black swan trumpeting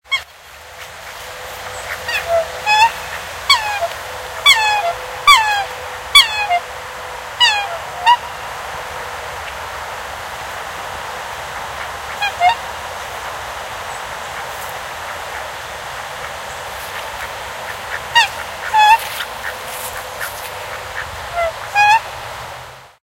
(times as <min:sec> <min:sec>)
0:00.0 0:00.4, 0:01.2 0:08.4, 0:11.8 0:13.3, 0:15.1 0:22.2